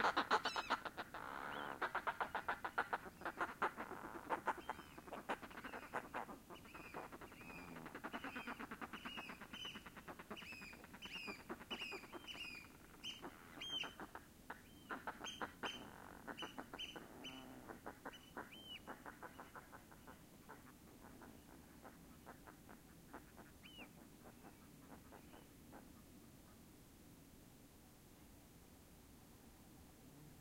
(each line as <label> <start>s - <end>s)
fulmars 0.0s - 26.6s